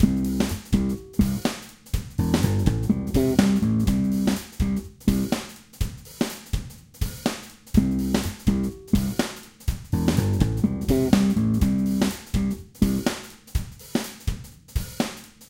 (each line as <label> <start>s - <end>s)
bass groove played by me 0.0s - 5.5s
drums played by machine 0.0s - 15.4s
bass groove played by me 7.7s - 13.2s